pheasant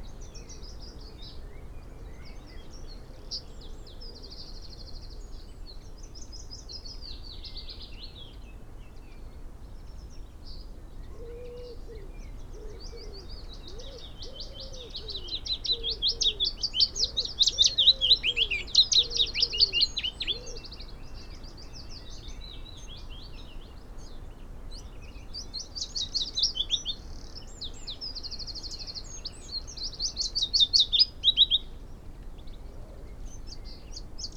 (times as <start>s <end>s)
10.6s 34.3s